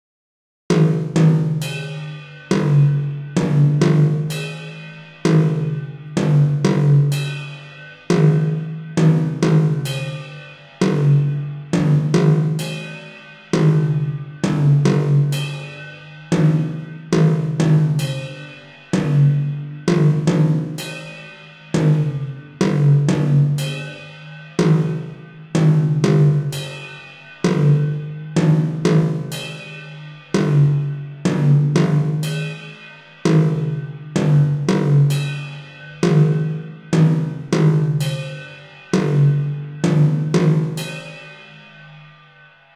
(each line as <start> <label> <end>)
0.7 psychedelic robotic song 42.7